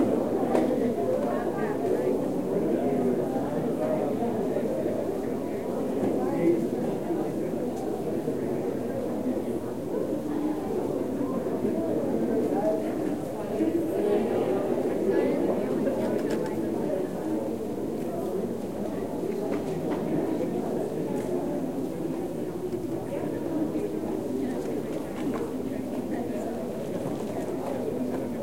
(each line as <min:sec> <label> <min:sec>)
0:00.0 people in a church 0:28.4